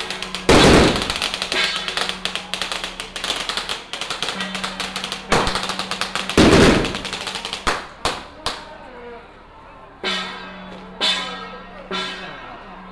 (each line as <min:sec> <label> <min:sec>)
0:00.0 Fireworks 0:08.7
0:00.0 firecrackers sound 0:08.7
0:00.0 Crowded crowd 0:12.9